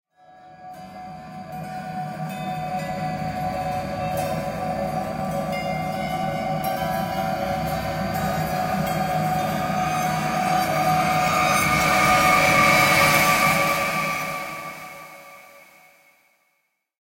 riser 0:08.5 - 0:16.0

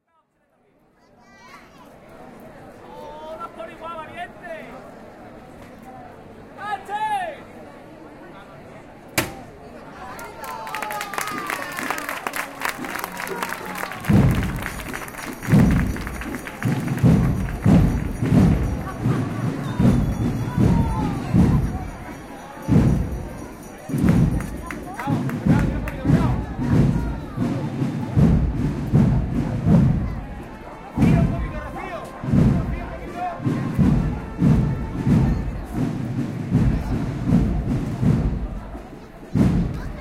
drums 0:11.2 - 0:40.0

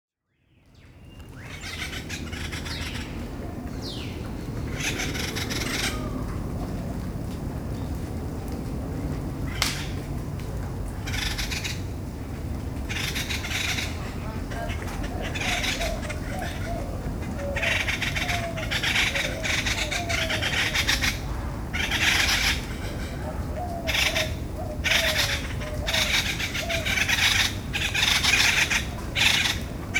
different birds 0:12.8 - 0:29.9

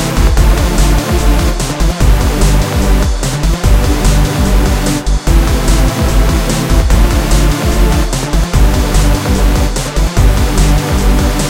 bass 0:00.0 - 0:11.4
synth 0:00.0 - 0:11.4

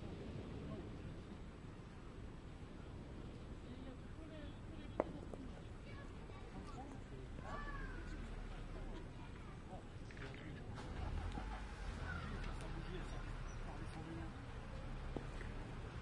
sea 0:00.0 - 0:16.0
people 0:02.9 - 0:16.0
cars 0:07.3 - 0:16.0

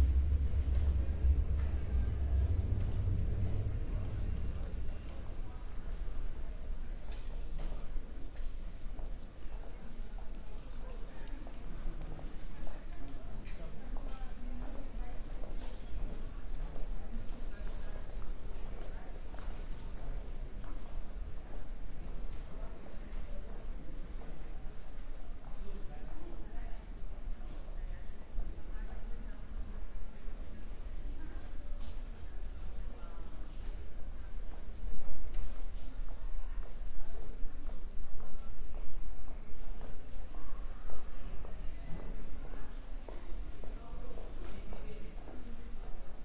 Subway 0:00.0 - 0:46.2

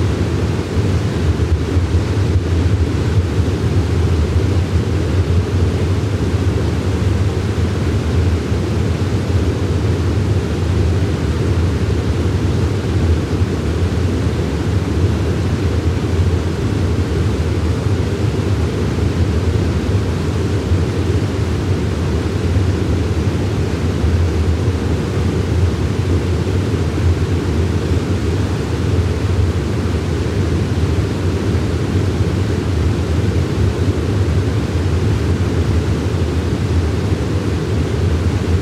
stream 0:00.0 - 0:38.6
waterfall 0:00.0 - 0:38.6

